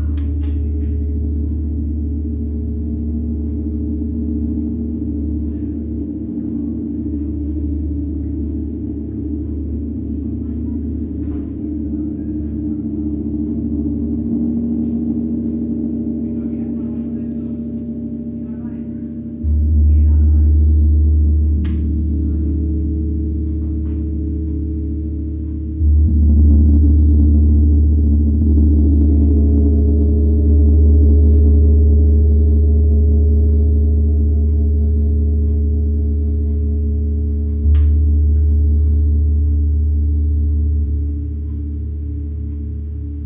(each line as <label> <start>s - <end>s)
gongs 0.0s - 43.2s
sound bowls 14.8s - 43.2s